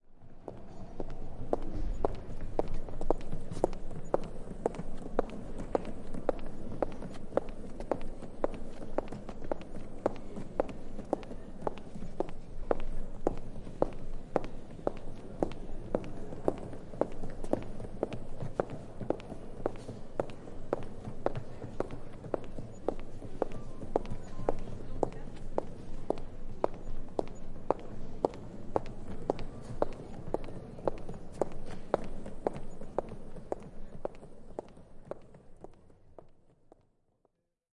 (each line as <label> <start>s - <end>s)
steps are slaming on an airport floor 1.0s - 36.4s